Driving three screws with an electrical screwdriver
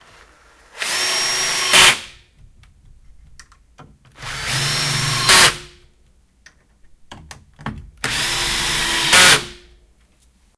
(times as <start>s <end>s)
8.0s 9.6s